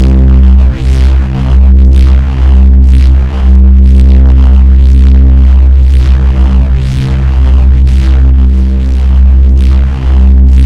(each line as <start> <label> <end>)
0.0 Driven reece bass 10.6